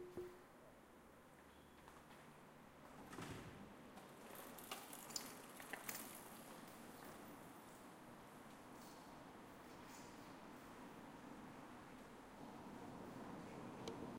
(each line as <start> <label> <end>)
3.8 bicycle passing 9.0
4.1 bike chain/pedaling 7.4